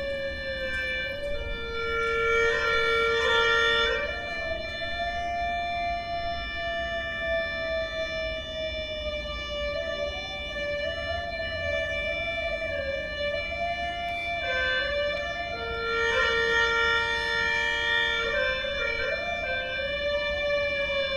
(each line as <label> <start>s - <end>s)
Musician plays hulusi improvisation 0.0s - 21.1s
people 0.0s - 21.1s